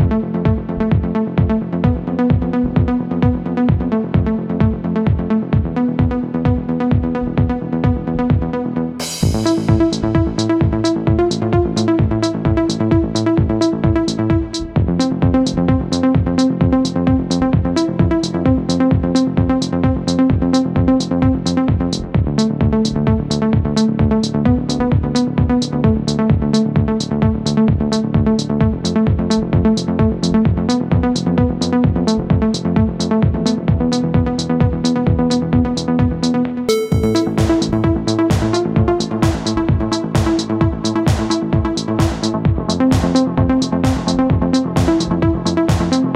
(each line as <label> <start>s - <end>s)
synth 36.7s - 39.6s